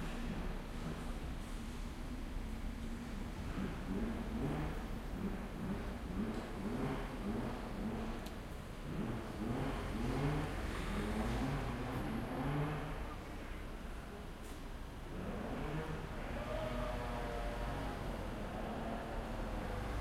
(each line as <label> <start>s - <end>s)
Train 0.0s - 3.5s
bus 0.0s - 20.0s